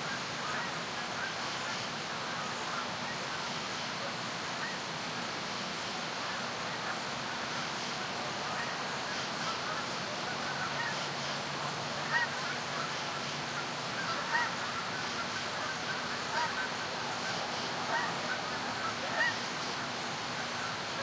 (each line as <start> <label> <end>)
0.0 Geese gathering and calling to one-another 21.0
0.0 rapids of a stream 21.0
0.0 Crickets and other nocturnal insects chirping 21.0
5.0 far-off highway traffic 21.0